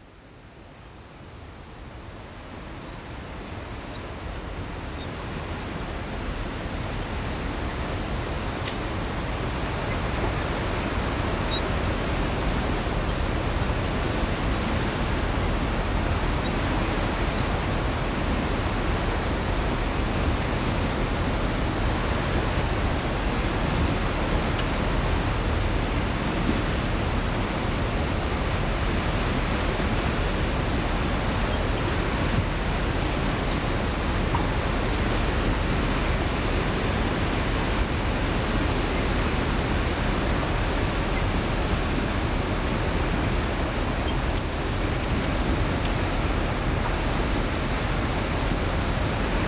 distant sea 0.0 - 49.4

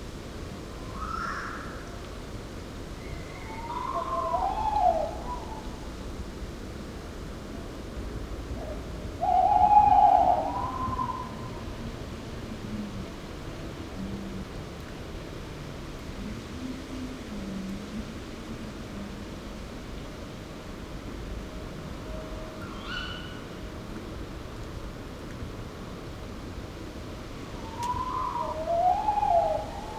Owl (Waldkauz) couple (male/fem) 3.0 - 5.7
Owl (Waldkauz) couple (male/fem) 8.6 - 11.6
Owl (Waldkauz) couple (male/fem) 22.6 - 23.5
Owl (Waldkauz) couple (male/fem) 27.6 - 29.9

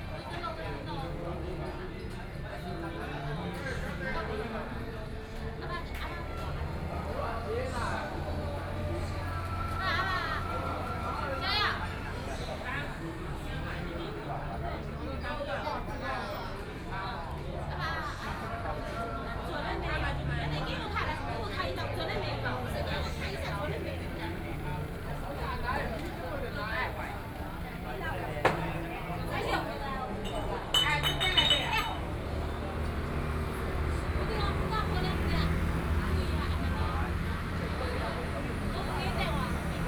Traffic Sound 5.4 - 15.0
Traffic Sound 19.7 - 39.8

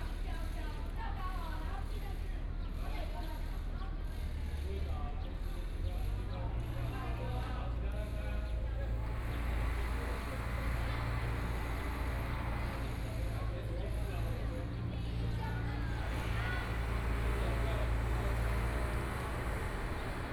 Many students 6.0 - 20.3
Engineering Noise 8.7 - 20.3

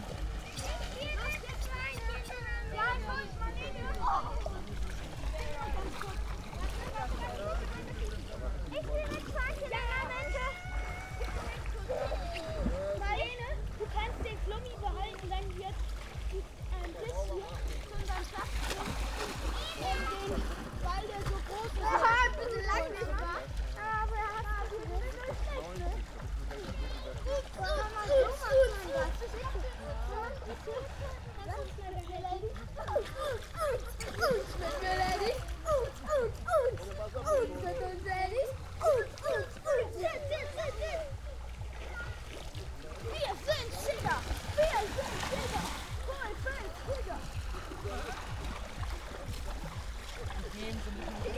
kids 0.0 - 51.3
lake 0.0 - 51.3

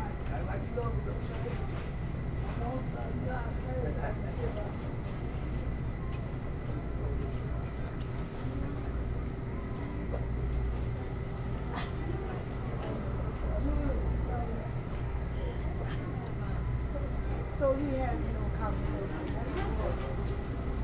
refrigerator drones 0.0 - 20.8
walking through Walgreens store 0.0 - 20.8
cashiers 0.1 - 20.8

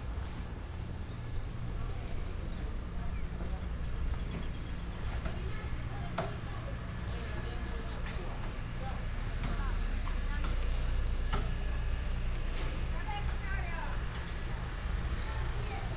traffic sound 0.0 - 15.9

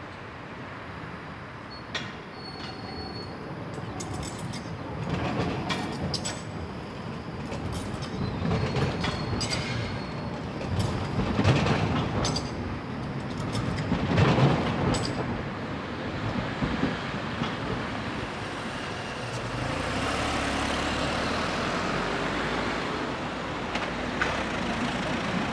trams 0.0 - 25.5
Cars 18.3 - 25.5

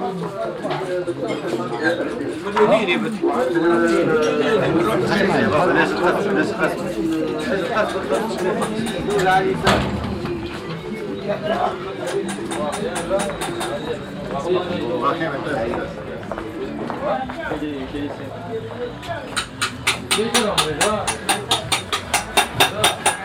music coming from the shops 0.0 - 23.2
feets walking on the unregualar stone pavement 10.3 - 22.4

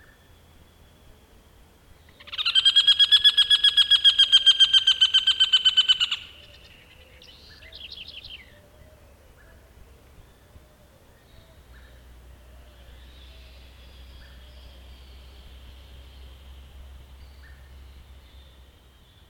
birds 0.0 - 19.2
mud birds 0.0 - 19.2

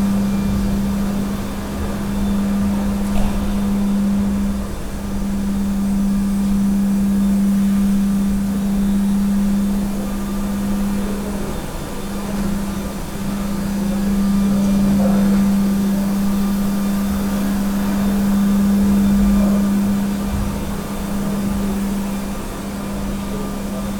floor cleaning machine operating 0.0 - 23.9

